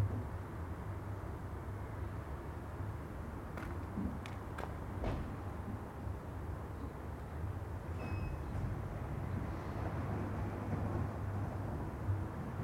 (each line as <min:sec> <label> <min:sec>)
0:07.9 woman opens her garage door 0:08.8